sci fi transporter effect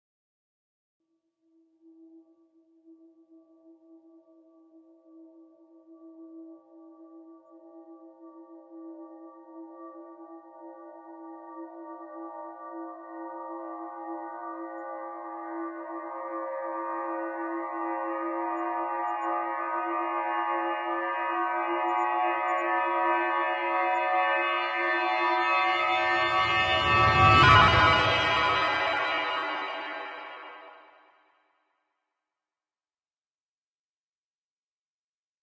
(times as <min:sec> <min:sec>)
0:23.0 0:30.9